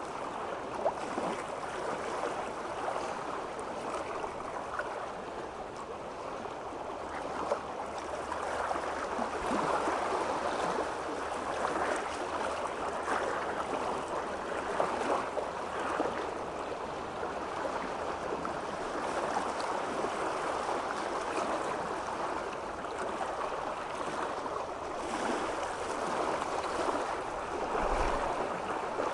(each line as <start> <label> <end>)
15.7 Wave ripple 29.1